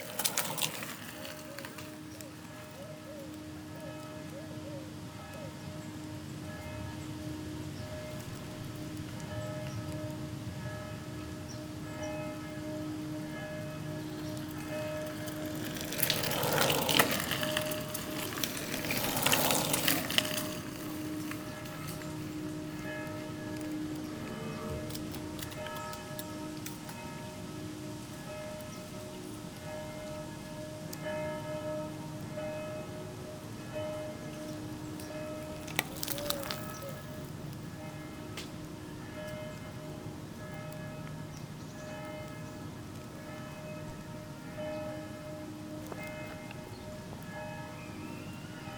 acorns falling 0:00.0 - 0:02.8
bicycles circulating on it 0:00.0 - 0:48.7
two trains 0:00.0 - 0:48.7
Distant bells 0:02.4 - 0:48.7
acorns falling 0:14.4 - 0:22.1
acorns falling 0:35.6 - 0:37.3

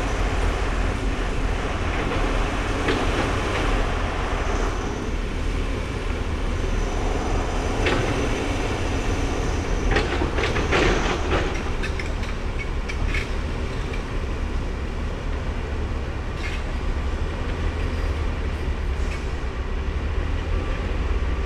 building work 0:00.0 - 0:14.2

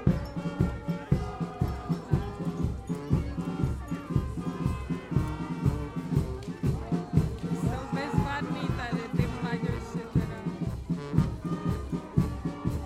musicans walking from house to house 0:00.0 - 0:12.8
traditional dance 0:00.0 - 0:12.8

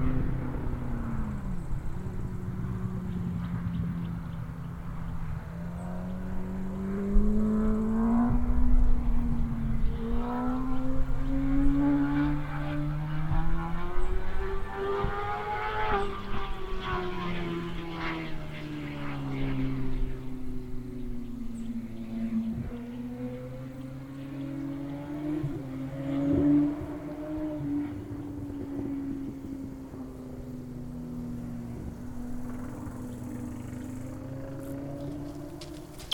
motorcycle in distant landscape 0:00.0 - 0:36.1

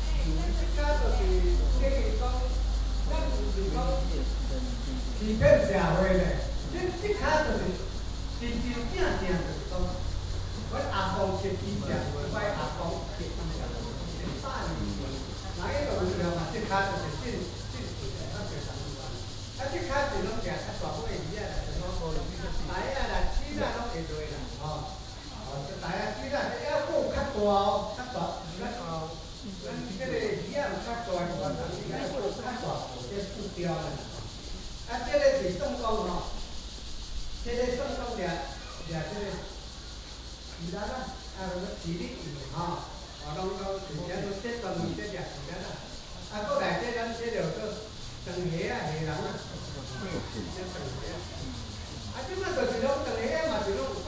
Cicadas sound 0:00.0 - 0:54.0
Traffic sound 0:00.0 - 0:54.0

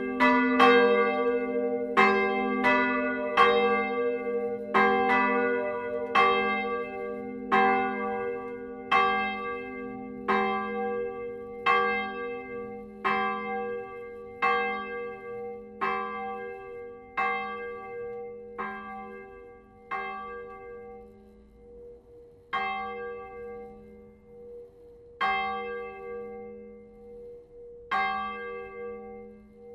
Manual ringing of the two bells 0:00.0 - 0:29.7

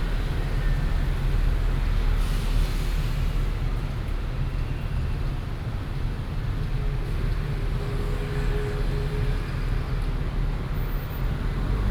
Traffic Sound 0:10.8 - 0:11.9

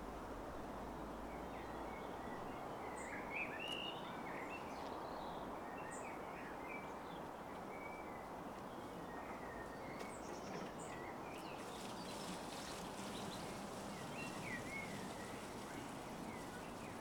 traffic in the background 0:06.2 - 0:17.0

